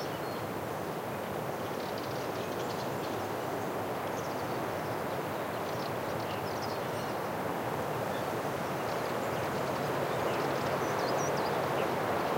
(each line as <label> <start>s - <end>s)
bird tweets (Warbler, Serin) 0.0s - 0.5s
wind on trees 0.0s - 12.3s
bird tweets (Warbler, Serin) 1.6s - 12.3s